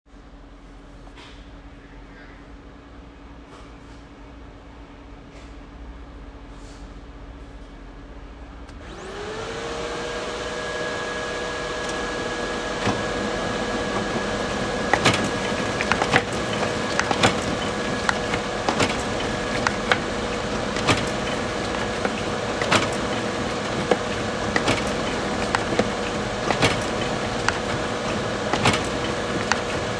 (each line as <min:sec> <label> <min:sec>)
0:08.8 toner-based printer 0:29.9